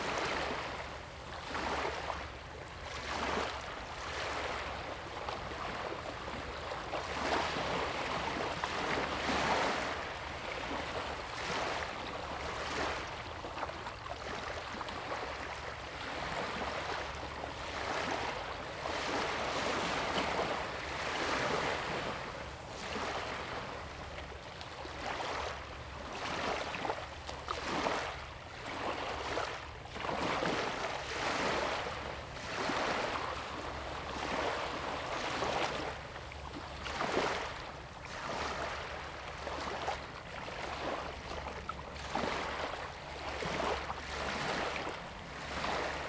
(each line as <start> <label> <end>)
0.0 waves 46.0